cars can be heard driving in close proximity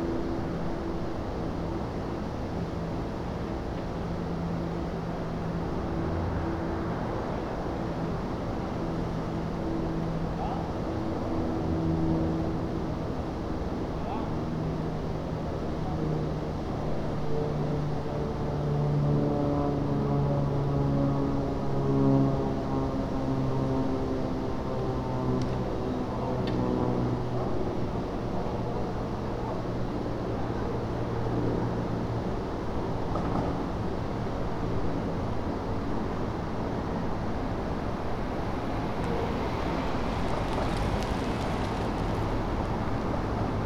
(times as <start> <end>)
30.8 43.6